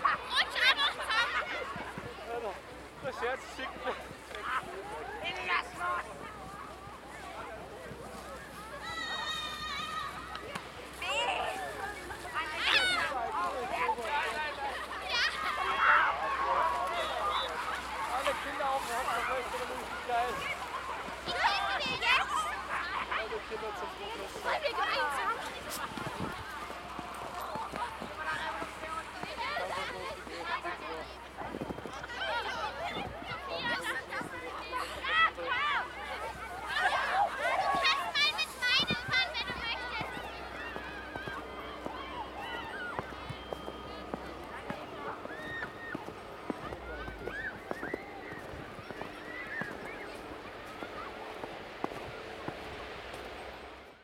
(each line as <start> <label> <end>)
0.0 children sledding and sliding down sacks 54.0